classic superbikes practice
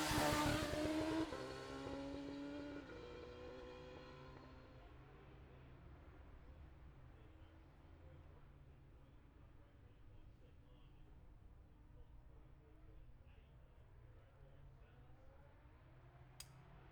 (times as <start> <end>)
0.0 4.5